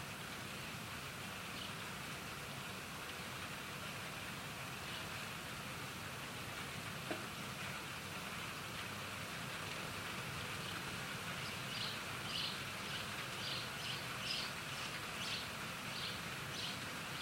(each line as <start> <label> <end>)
0.0 traffic 17.2
10.6 birds 17.2